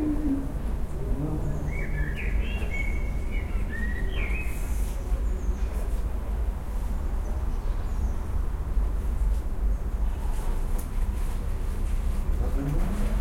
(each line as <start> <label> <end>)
0.0 Birds 5.9